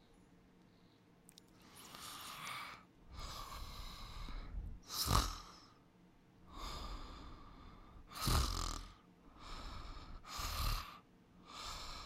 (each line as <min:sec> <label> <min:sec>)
0:01.8 woman snores and snorts whilst sleeping 0:03.9
0:04.8 woman snores and snorts whilst sleeping 0:05.7
0:08.0 woman snores and snorts whilst sleeping 0:12.0